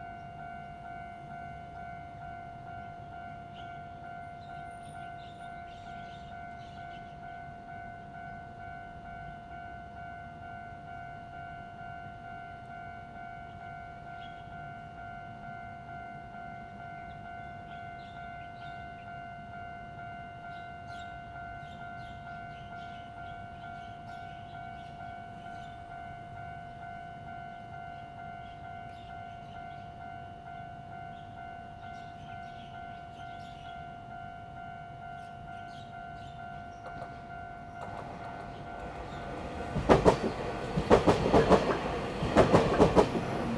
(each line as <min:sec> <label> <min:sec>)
0:00.0 The train runs through 0:43.5
0:36.9 Traffic sound 0:43.5